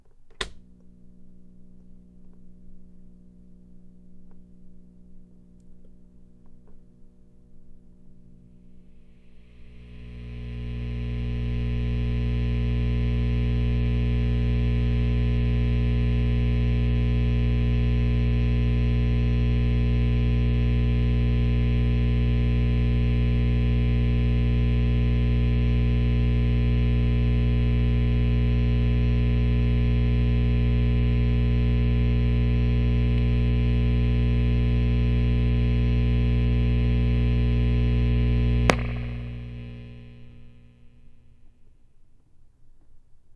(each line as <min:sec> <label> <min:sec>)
0:00.0 Tube amp switches on and warms up 0:41.3